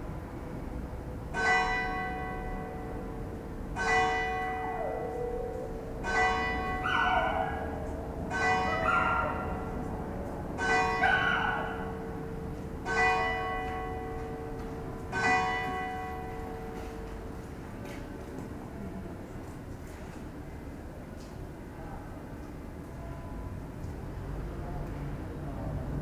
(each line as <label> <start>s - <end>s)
barks of the dog 6.8s - 7.8s
barks of the dog 8.6s - 9.8s
barks of the dog 11.0s - 11.8s